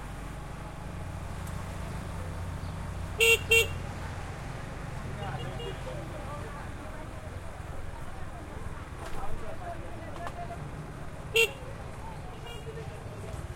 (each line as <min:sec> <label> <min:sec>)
0:00.0 traffic medium 0:13.5
0:03.2 horn honks 0:03.8